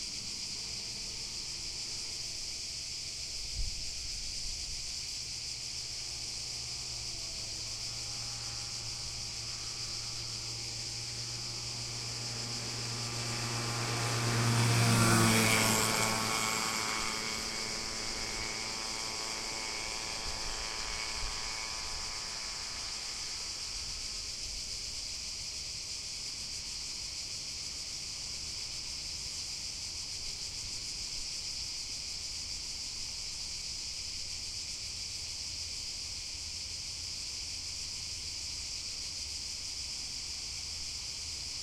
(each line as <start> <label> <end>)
0.0 crickets are chirping 41.6
5.1 cars can be heard driving by 31.0